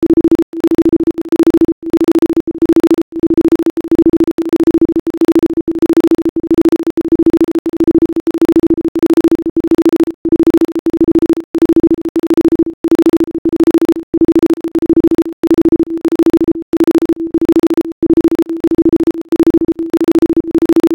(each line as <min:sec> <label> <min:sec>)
0:10.4 volume oscillation 0:20.9